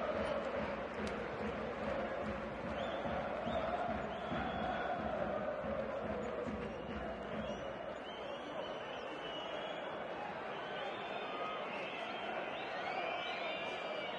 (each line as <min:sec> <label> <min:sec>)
0:00.0 audience 0:14.1